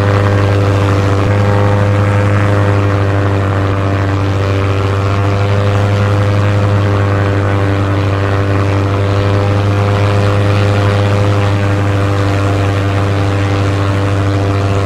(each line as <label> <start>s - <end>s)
Single Propeller aircraft flying in the sky 0.0s - 14.8s